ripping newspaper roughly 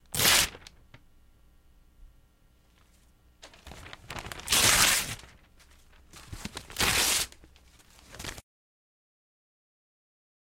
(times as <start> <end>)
0.1 0.7, 3.4 8.4